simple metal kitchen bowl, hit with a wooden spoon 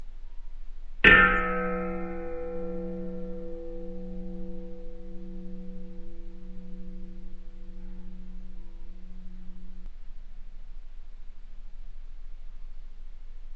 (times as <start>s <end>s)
1.0s 9.9s